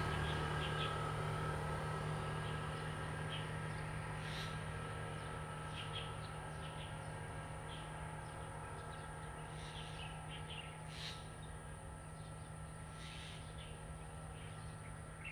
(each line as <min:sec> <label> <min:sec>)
0:00.0 Traffic Sound 0:05.8